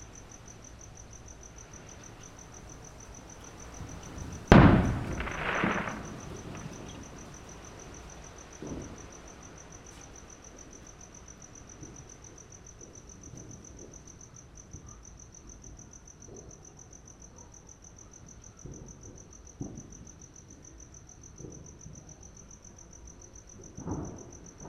0.0s Wind 24.6s
3.6s Fireworks displays 9.1s

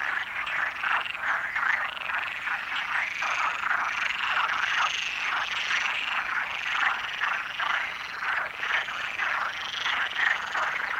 0.0s Frogs chatting in the lake 10.9s

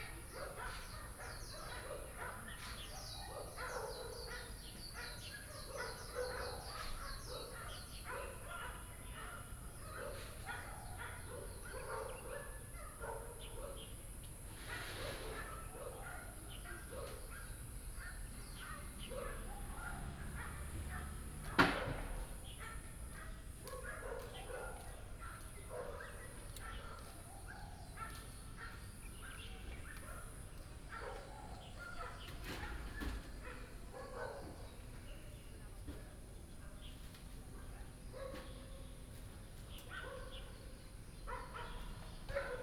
0.0s Birds singing 14.4s
15.0s Birds singing 21.2s
19.2s traffic sound 22.6s
22.2s Birds singing 42.6s

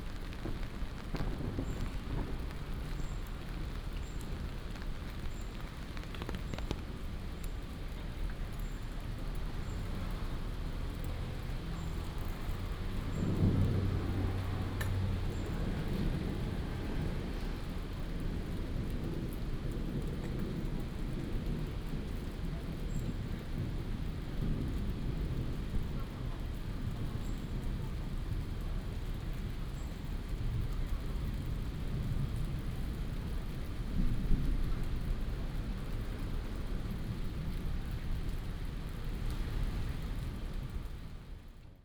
0.0s Raindrop sound 41.8s
0.0s Walking in the rain 41.8s
12.4s Thunder 27.2s

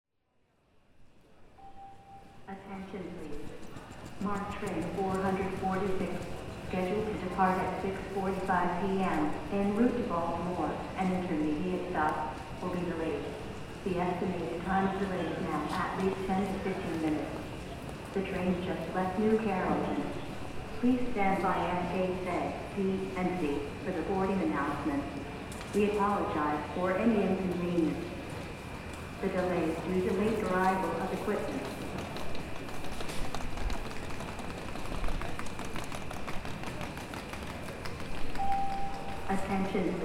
2.2s many traveller were passing by 40.0s
23.5s People were surrounding by the gate 40.0s

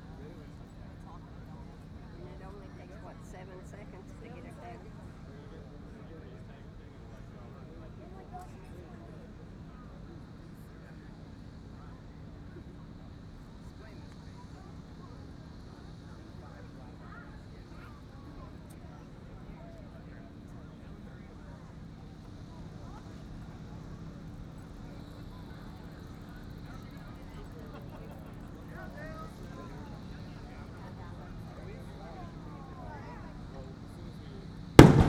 34.8s implosion 35.0s

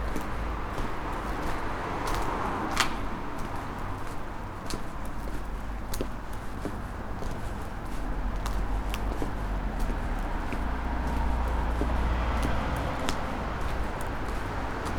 4.0s walking 14.9s

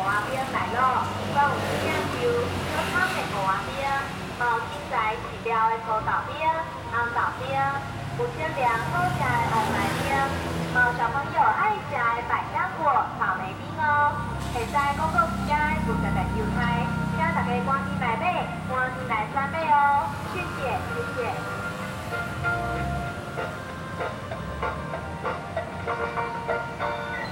0.0s sale of ice cream 27.3s

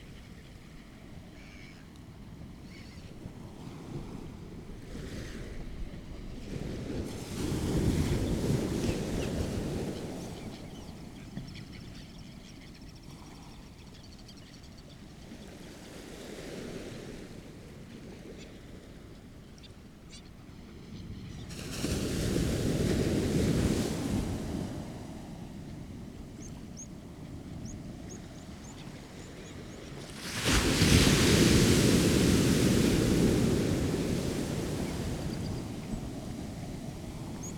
1.4s bird calls from rock pipit 1.9s
2.7s bird calls from rock pipit 3.1s
21.5s waves hitting banks of sea weed 37.5s

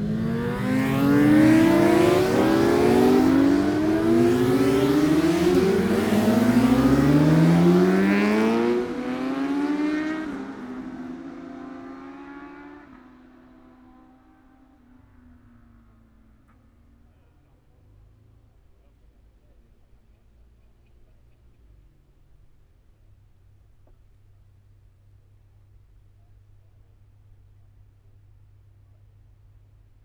0.0s Motorcycle Road Racing 17.3s

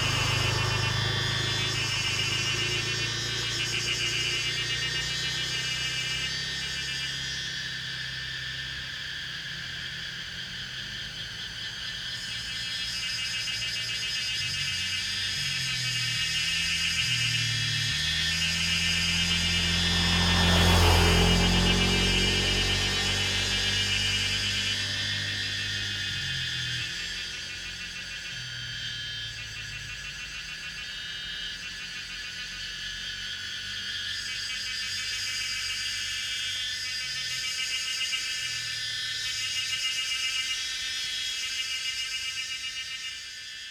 0.0s Traffic Sound 11.6s
0.0s Cicadas cry 43.7s
14.4s Traffic Sound 34.4s

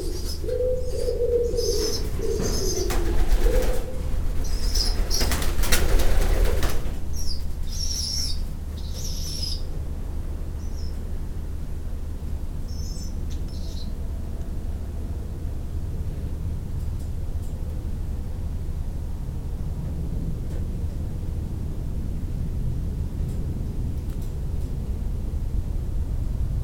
0.0s doves shouting 9.7s
0.0s juvenile birds 9.8s

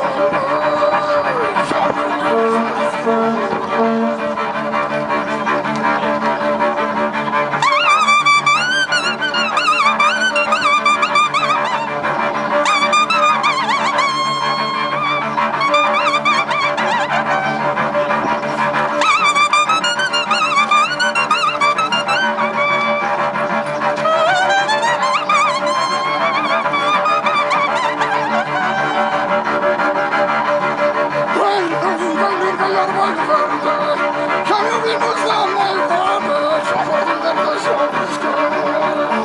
0.0s Cello Guy 39.2s

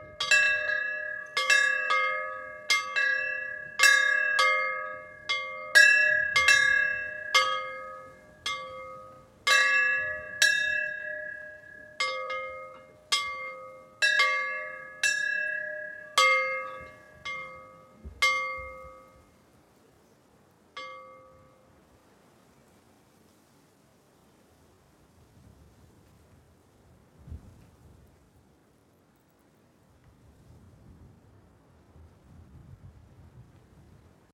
0.0s Churchs bells 19.3s
20.8s Churchs bells 21.6s

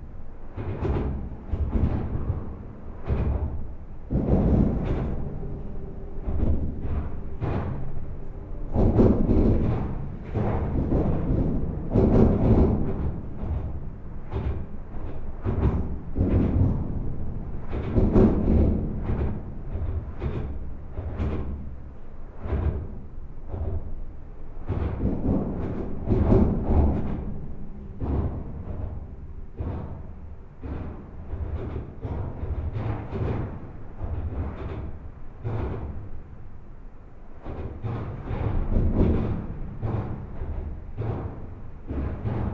0.0s enormous metallic viaduct 42.5s

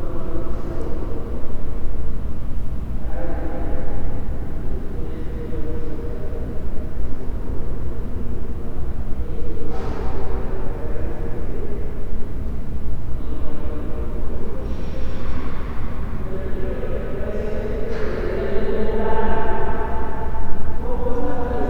0.0s People are heard walking past the current exhibit and commenting 21.6s
20.8s one of the guides gives information to a group of visitors 21.6s

